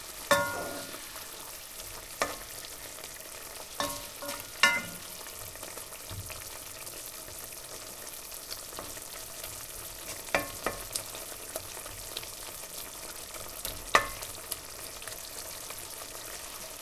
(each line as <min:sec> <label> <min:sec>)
0:00.0 Oil and garlic sizzling in a frying pan 0:16.8